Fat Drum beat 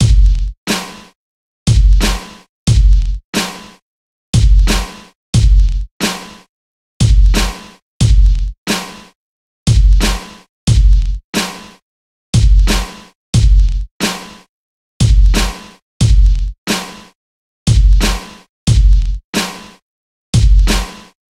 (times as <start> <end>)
0.0 1.0, 1.7 3.5, 4.4 6.3, 7.0 9.0, 9.7 11.5, 12.4 14.2, 15.0 16.8, 17.7 19.5, 20.4 21.0